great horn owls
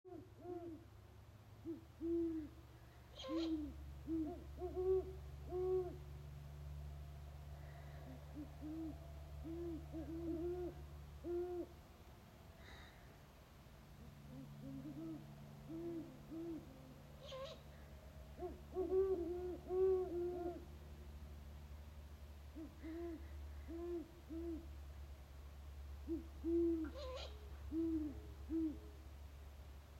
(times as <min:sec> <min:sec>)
0:07.4 0:11.8, 0:14.0 0:20.8